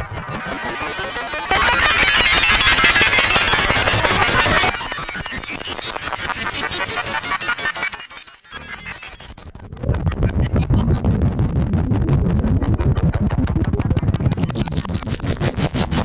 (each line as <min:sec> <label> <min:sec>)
0:00.0 hostile disturbing signals 0:16.0
0:06.4 voice 0:11.4